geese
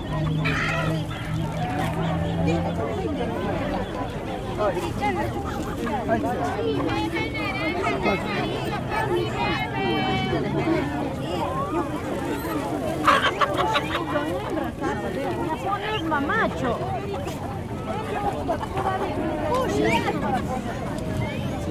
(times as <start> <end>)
0.0 2.8, 12.5 14.1